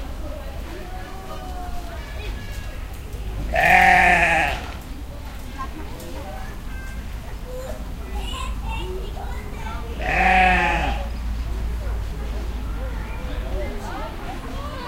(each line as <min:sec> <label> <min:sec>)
0:03.5 sheep 0:04.8
0:10.0 sheep 0:11.1